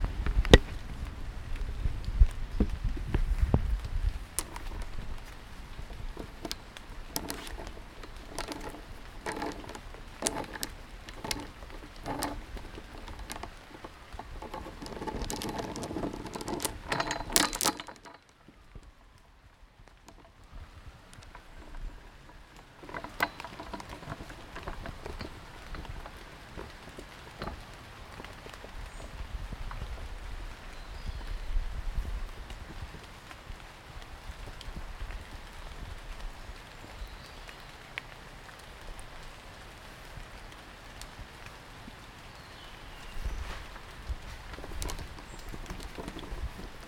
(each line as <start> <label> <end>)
4.2 Twisting on metals swings 18.6
20.0 Twisting on metals swings 28.9
43.4 Twisting on metals swings 46.8